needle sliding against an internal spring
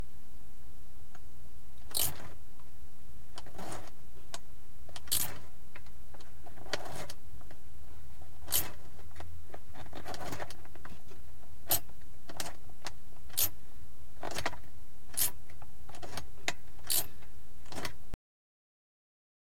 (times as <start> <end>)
1.9 2.2, 15.2 15.4, 16.8 17.1